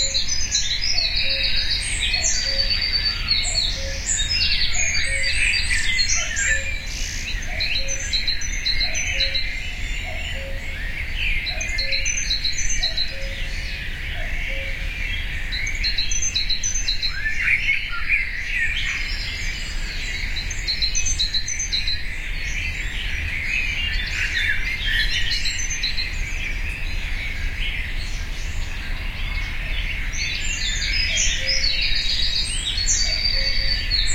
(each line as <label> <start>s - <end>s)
cuckoo 0.0s - 17.8s
cuckoo 32.8s - 34.1s